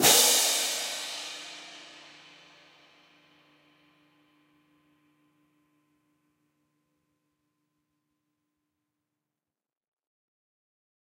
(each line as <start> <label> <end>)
0.0 pair of marching hand cymbals clashed together 3.0